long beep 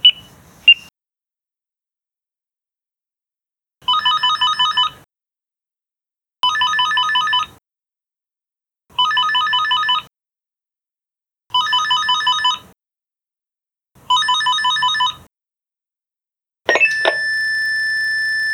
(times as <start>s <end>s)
16.7s 18.3s